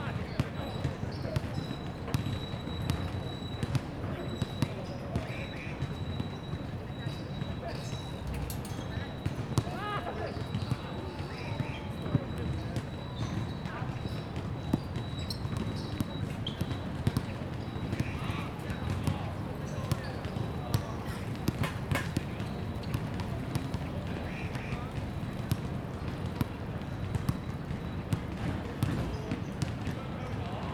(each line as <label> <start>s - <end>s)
Basketball Sound 14.4s - 29.2s